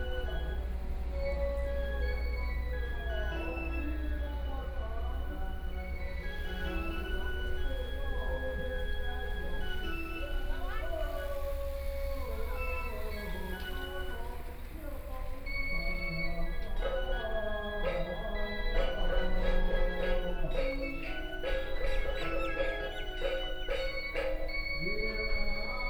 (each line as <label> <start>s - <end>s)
Funeral sounds 0.0s - 25.8s